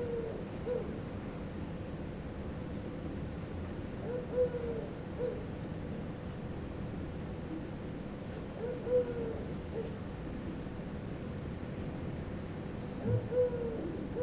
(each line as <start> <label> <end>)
0.0 pigeons hooting in the background 1.1
4.0 pigeons hooting in the background 5.5
8.3 pigeons hooting in the background 10.1
13.0 pigeons hooting in the background 14.2